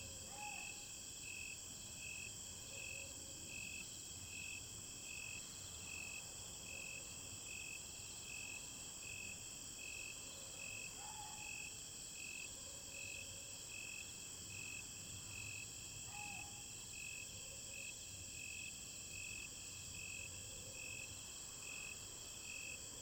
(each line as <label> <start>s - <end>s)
Insect cry 0.0s - 7.7s
Insect cry 9.8s - 22.9s
Dog barking 11.0s - 11.6s